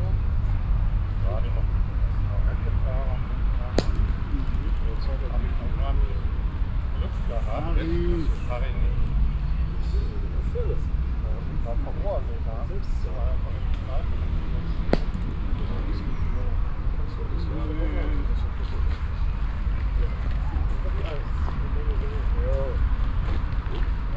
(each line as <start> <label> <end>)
3.8 clicking metall balls 5.1
15.0 clicking metall balls 16.0